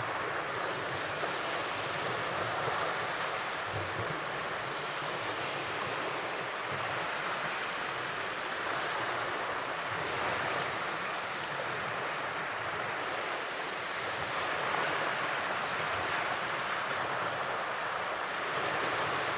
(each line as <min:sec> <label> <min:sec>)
0:00.0 waves 0:19.3